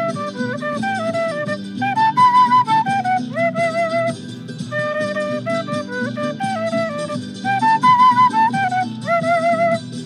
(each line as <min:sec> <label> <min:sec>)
0:00.0 Flute player from Chile busking 0:10.0
0:00.0 playback track 0:10.0